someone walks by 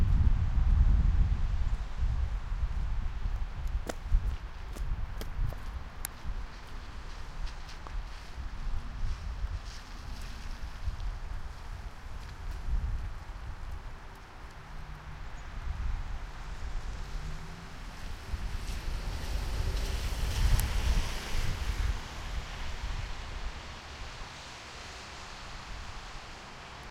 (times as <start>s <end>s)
3.3s 13.1s